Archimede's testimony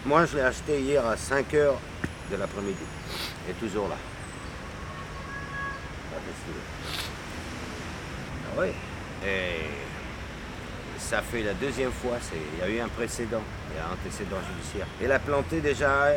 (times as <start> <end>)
0.8 7.3